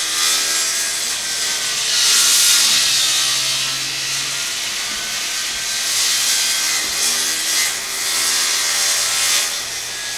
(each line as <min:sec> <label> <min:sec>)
0:00.0 metal grinding sawing trim 0:10.1